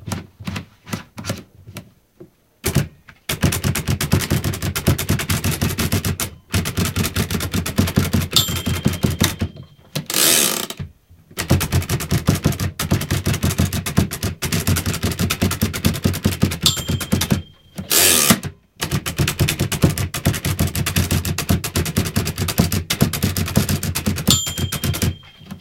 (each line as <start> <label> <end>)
2.7 Typing 9.7
8.4 bell 9.9
11.4 Typing 25.6
16.6 bell 18.2
24.3 bell 25.6